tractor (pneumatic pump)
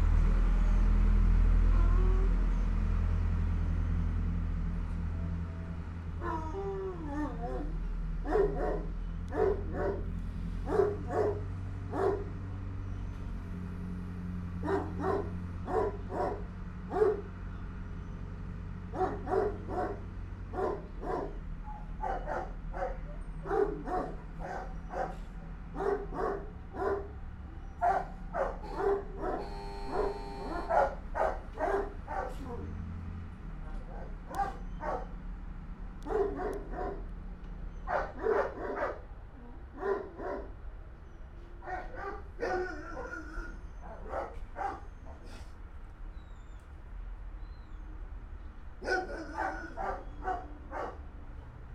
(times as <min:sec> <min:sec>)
0:10.0 0:11.2, 0:45.2 0:45.6